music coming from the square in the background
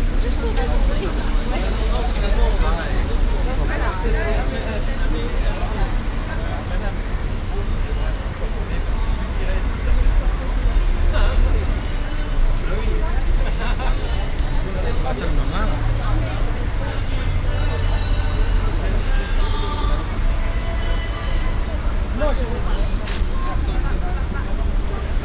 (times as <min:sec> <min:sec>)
0:17.2 0:25.2